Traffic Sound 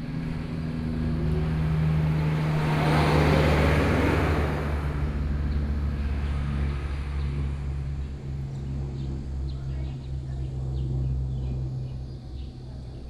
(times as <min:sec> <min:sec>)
0:00.0 0:06.6